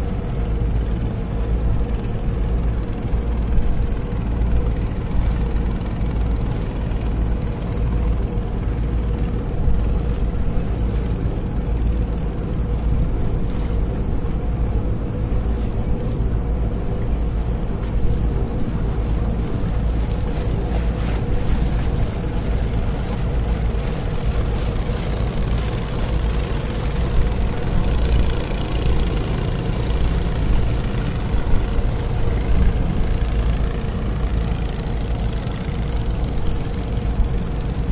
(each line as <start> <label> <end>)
0.0 Boat 37.9